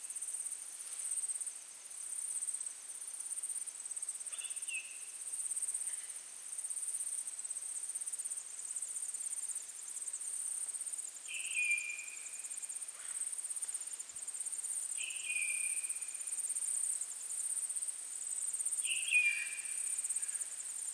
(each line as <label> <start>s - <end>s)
birds 15.0s - 16.0s